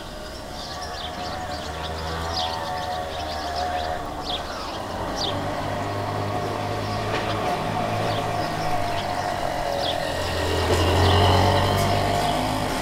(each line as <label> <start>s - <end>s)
lots of birds 0.0s - 12.8s
motorcycle 0.0s - 12.8s